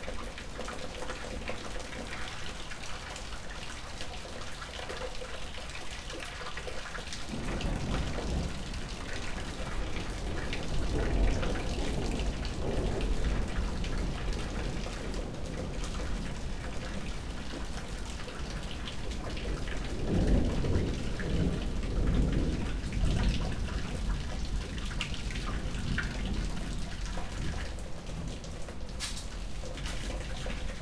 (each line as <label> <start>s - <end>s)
rain from the roof is being collected in a large plastic container 0.0s - 30.8s
Thunderstorm 7.2s - 30.8s